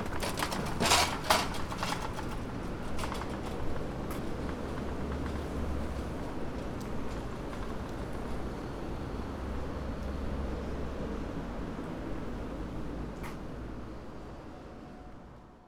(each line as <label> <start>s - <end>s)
push carts 0.0s - 3.7s
sounds of the streets 0.0s - 15.6s